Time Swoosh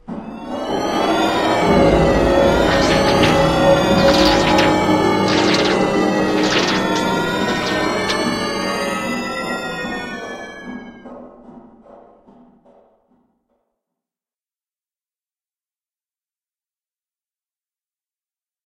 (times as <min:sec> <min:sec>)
0:00.1 0:10.5